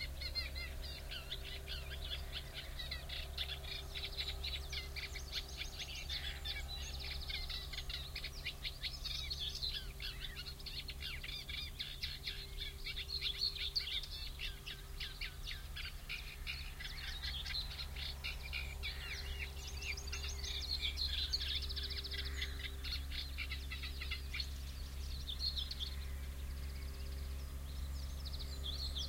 reed warbler 0.0 - 29.0

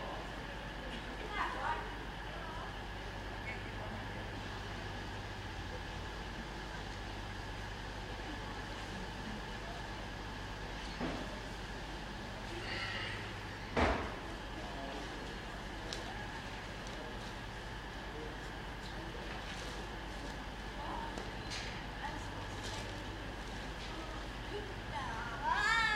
trains coming and going 0.0 - 25.9
engines of train 0.0 - 25.9
voices 0.0 - 25.9

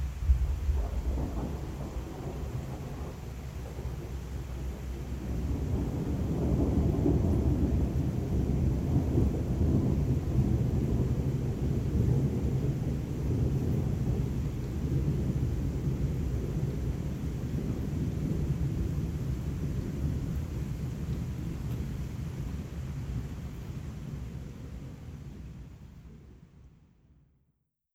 Distant lightning ripples with thunder rumbles 0.0 - 26.4

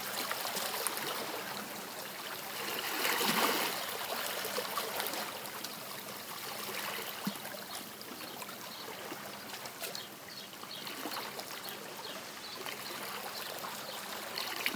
waves 0.0 - 14.7

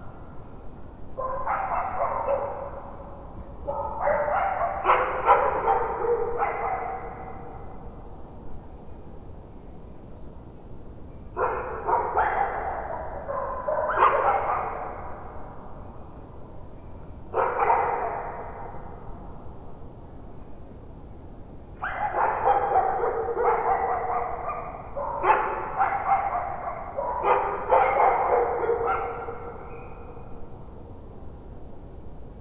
distant dogs barking 1.2 - 8.0
distant dogs barking 11.3 - 15.6
distant dogs barking 17.3 - 19.2
distant dogs barking 21.8 - 30.6

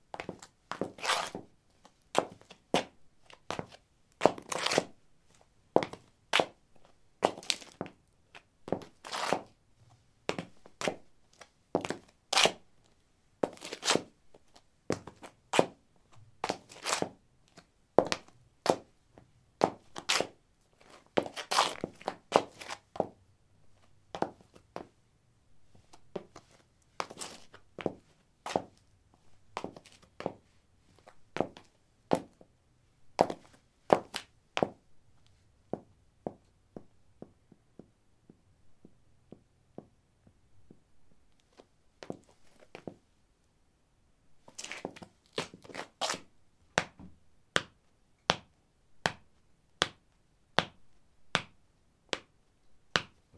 highheels shuffle tap 0.1 - 1.5
highheels shuffle tap 8.7 - 9.5
highheels shuffle tap 21.2 - 23.2
highheels shuffle tap 25.8 - 28.8
highheels shuffle tap 29.6 - 32.4
highheels shuffle tap 33.2 - 34.8
highheels shuffle tap 35.7 - 40.0
highheels shuffle tap 42.0 - 43.0
highheels shuffle tap 46.8 - 50.0
highheels shuffle tap 50.6 - 52.3
highheels shuffle tap 52.9 - 53.2

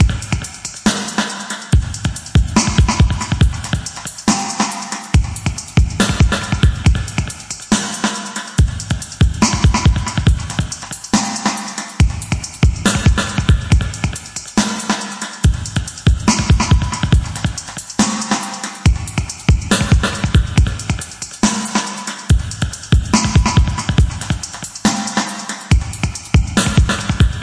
DRUMS 0.0 - 27.4

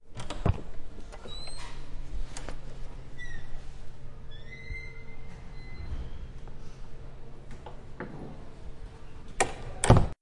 Open and close a creaky door 0.1 - 6.4

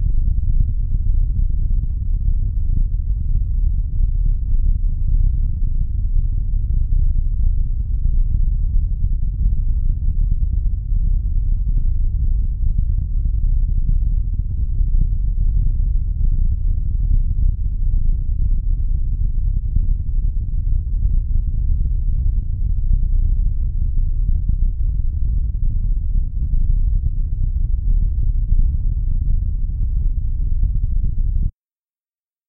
low frequency noise 0.0 - 31.5

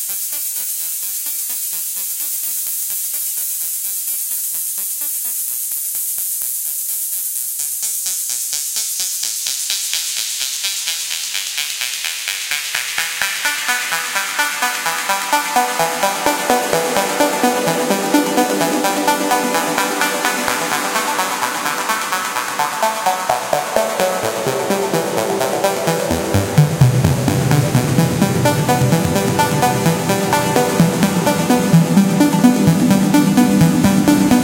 Synth 13.0 - 34.4

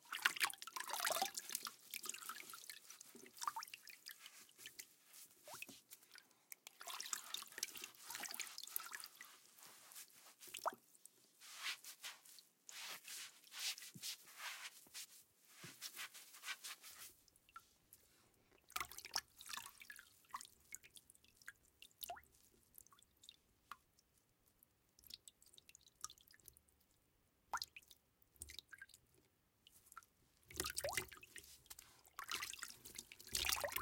scrubbing with a wet sponge 0.1 - 18.2
scrubbing with a wet sponge 30.8 - 33.8

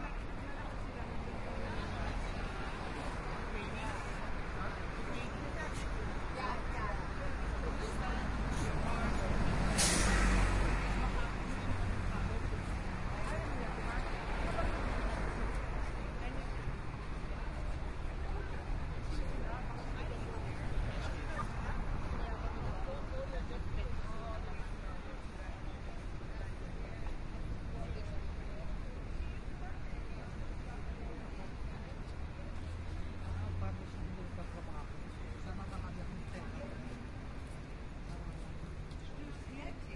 traffic 0.0 - 39.9
walk 35.1 - 39.9

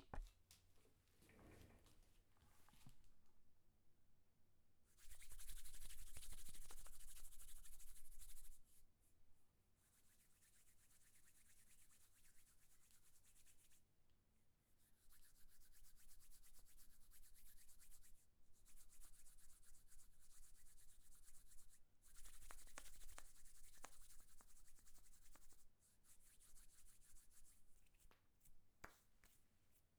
Rubbing my hands at different speeds 22.1 - 25.6

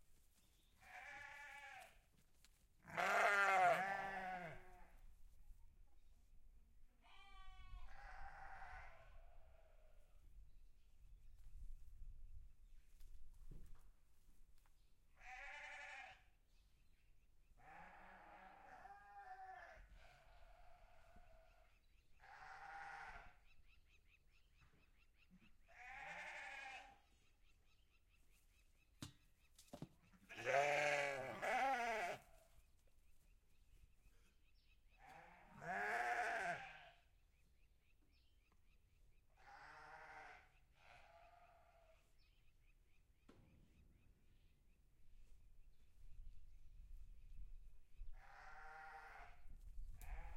Sheep 0.3 - 5.1
cattle 2.8 - 5.0
Sheep 17.6 - 23.4
Sheep 25.4 - 27.1
Sheep 29.6 - 33.3
Sheep 35.0 - 37.1
cattle 35.0 - 37.0
Sheep 39.3 - 42.0
Sheep 48.1 - 50.3
cattle 48.1 - 50.3

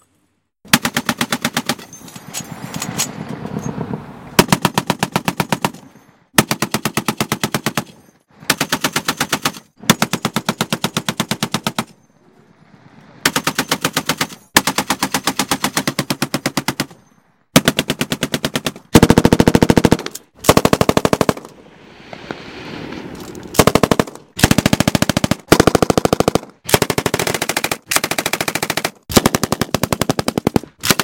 rifles 4.4 - 12.0
rifles 13.2 - 21.6
machine guns 17.6 - 21.5
rifles 23.5 - 31.0
machine guns 23.6 - 31.0

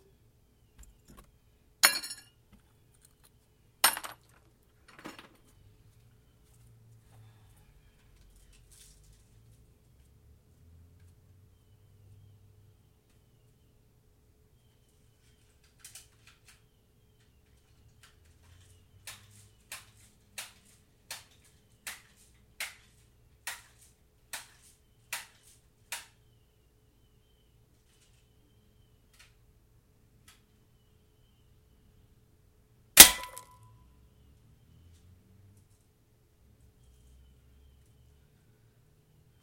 plinking some soda cans 33.0 - 33.6

